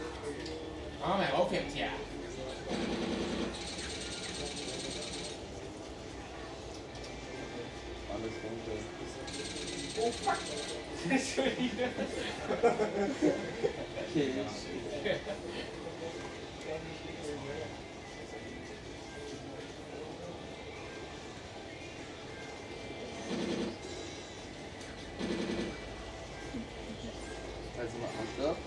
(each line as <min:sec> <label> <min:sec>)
0:09.3 teenagers play a game 0:17.6